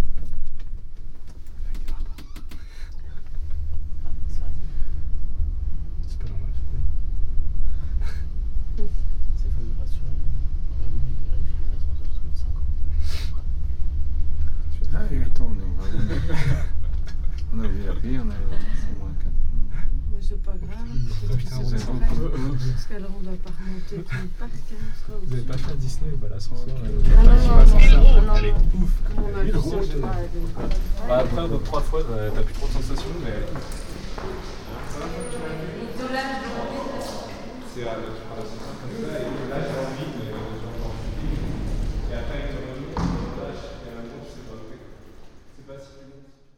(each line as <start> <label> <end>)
1.3 people talking in the reverbing tunnel 46.5
26.8 steps 45.4